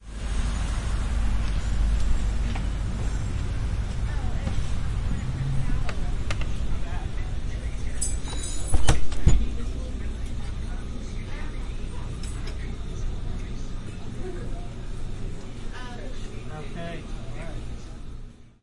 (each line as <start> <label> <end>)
0.0 cars 14.2
0.0 trucks 18.4